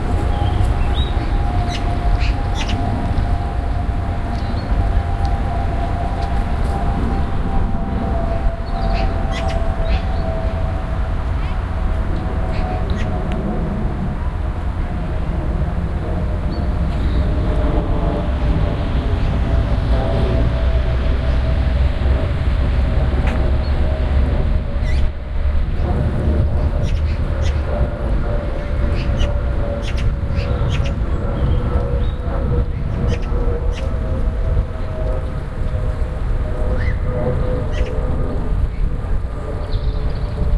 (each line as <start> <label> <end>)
0.2 Birds 3.5
8.3 Birds 13.2
24.7 Birds 25.1
26.5 Birds 27.7
28.6 Birds 34.1
36.6 Birds 40.5